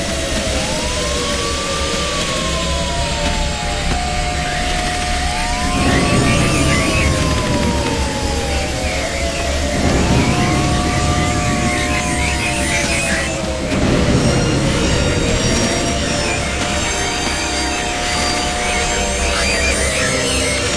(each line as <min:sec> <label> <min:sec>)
0:00.1 aliens attacking 0:20.7
0:00.1 anthem 0:20.7